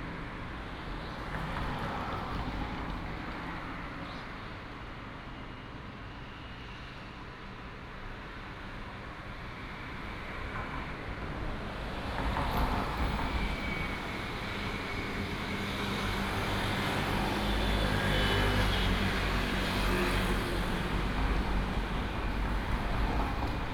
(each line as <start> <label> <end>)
8.0 Traffic sound 23.7